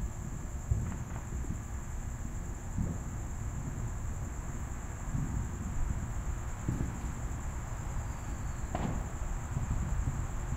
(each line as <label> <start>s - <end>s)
crickets 0.0s - 10.5s
fireworks being set off faintly in the background 0.0s - 10.5s
dogs bark at the fireworks 8.7s - 9.7s